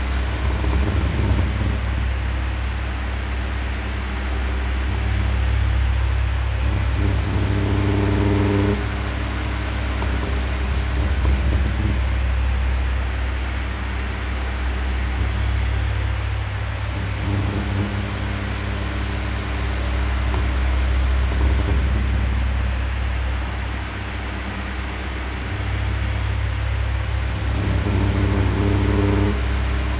0.0s Desktop fan (rotating mode) 29.9s

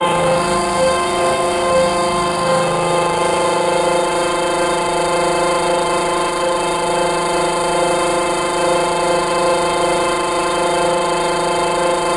0.0s Ringmod Texture 12.1s

